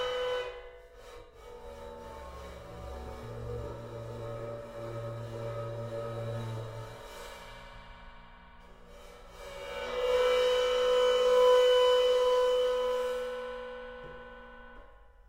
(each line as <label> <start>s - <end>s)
bowed Crash-Cymbal 2.0s - 14.8s